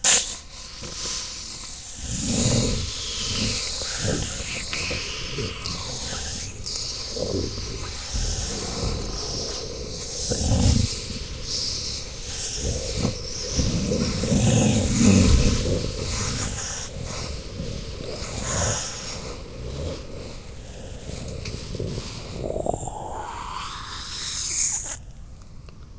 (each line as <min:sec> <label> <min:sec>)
0:00.0 making a match strike noise 0:01.8